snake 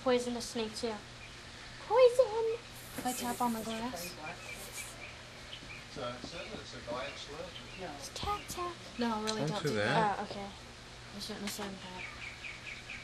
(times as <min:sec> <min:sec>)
0:02.5 0:05.3